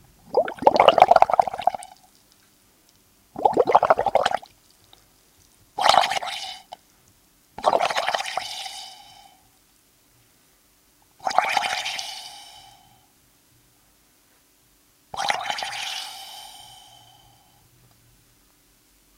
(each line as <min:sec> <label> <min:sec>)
0:05.8 blowing through a drinking straw into a glass of water 0:06.8
0:07.6 blowing through a drinking straw into a glass of water 0:08.8
0:08.2 hiss 0:09.5
0:11.2 blowing through a drinking straw into a glass of water 0:12.8
0:11.5 hiss 0:13.1
0:15.2 blowing through a drinking straw into a glass of water 0:17.1
0:15.2 hiss 0:17.6